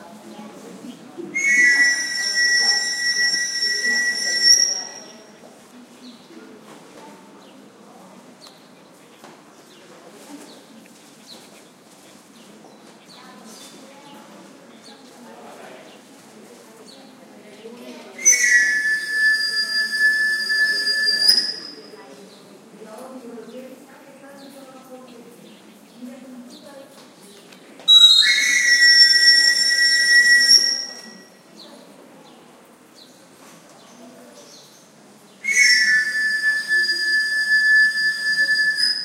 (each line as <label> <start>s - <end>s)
soft voices of people in background 0.0s - 39.0s
whistle of a wandering knife sharpener 1.4s - 5.3s
whistle of a wandering knife sharpener 18.2s - 21.9s
whistle of a wandering knife sharpener 27.9s - 31.4s
whistle of a wandering knife sharpener 35.4s - 39.0s